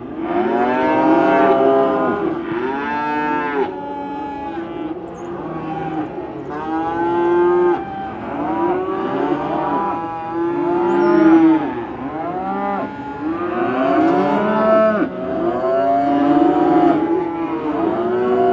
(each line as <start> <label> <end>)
0.0 Cows mooing 18.5